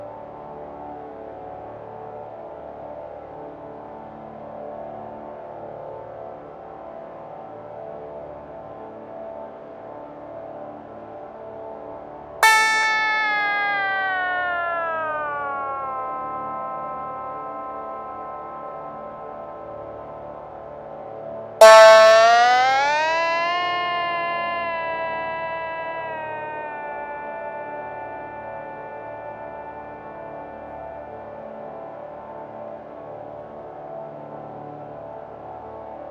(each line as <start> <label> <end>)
12.4 Sitar 20.6
12.4 Drone 34.3
21.6 Sitar 33.4